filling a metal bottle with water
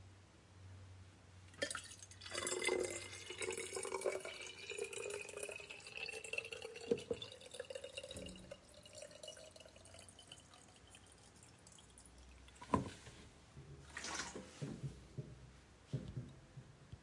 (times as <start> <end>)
1.5 12.7